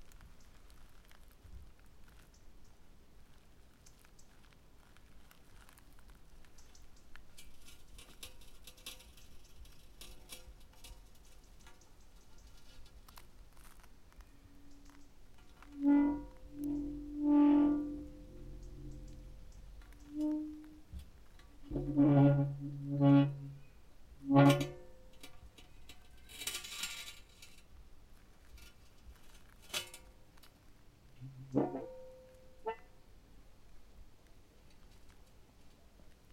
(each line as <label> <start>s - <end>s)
cast-iron lid of a water well 7.3s - 13.8s
cast-iron lid of a water well 14.4s - 27.7s
cast-iron lid of a water well 31.2s - 32.9s